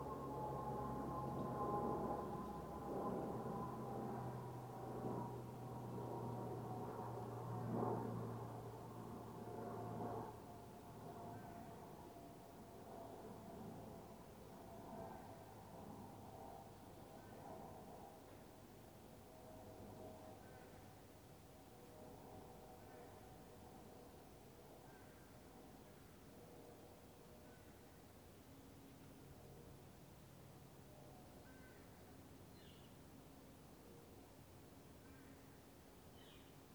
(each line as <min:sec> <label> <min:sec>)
0:00.0 Planes 0:26.7
0:00.0 My dog settling down in the sun 0:36.7
0:31.2 Birds 0:33.2
0:34.9 Birds 0:36.7